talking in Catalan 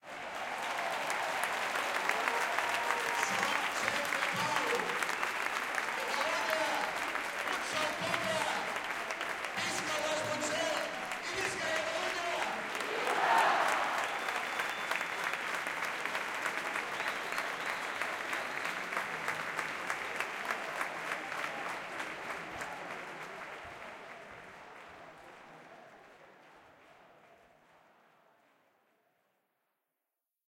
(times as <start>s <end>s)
6.0s 8.8s, 9.5s 13.4s